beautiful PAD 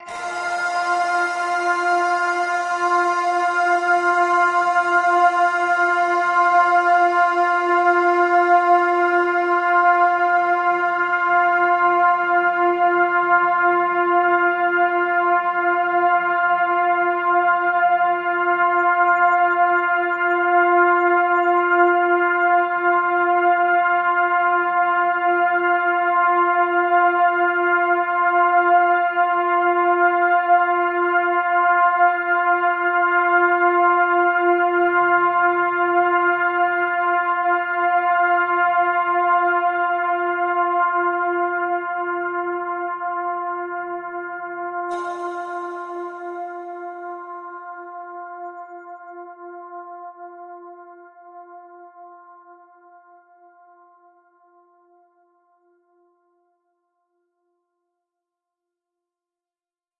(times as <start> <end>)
0.0 11.9, 44.9 48.0